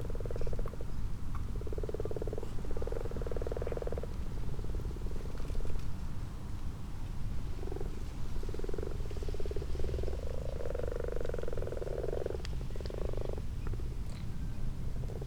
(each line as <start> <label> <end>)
0.0 common toads 5.8
0.0 common frogs 6.0
7.2 common frogs 15.2
7.4 common toads 14.4